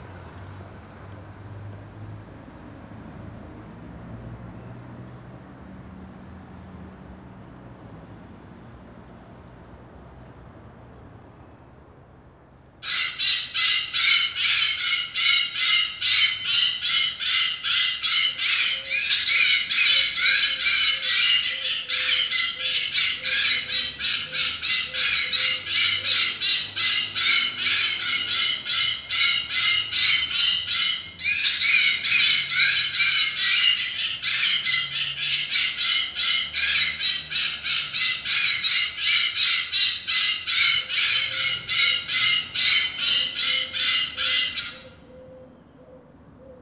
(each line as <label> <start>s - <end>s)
scaring bird calls blast from a loudspeaker 12.8s - 45.8s